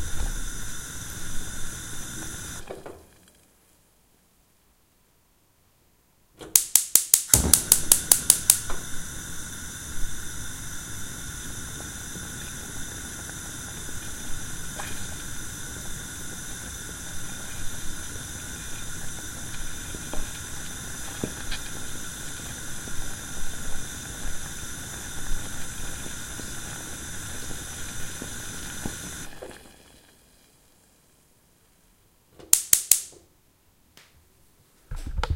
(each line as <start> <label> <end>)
0.0 cooker hob being turned on 3.3
0.0 beans sizzling 3.3
6.4 cooker hob being turned on 30.1
6.5 beans sizzling 31.3
32.5 beans sizzling 33.2